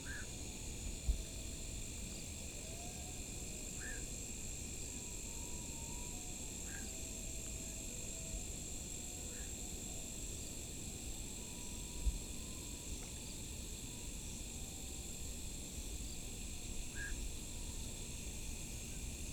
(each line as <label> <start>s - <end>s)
Frogs 0.0s - 0.4s
Frogs 2.7s - 4.3s
Frogs 5.4s - 7.2s
Frogs 9.2s - 9.9s
Frogs 16.0s - 18.2s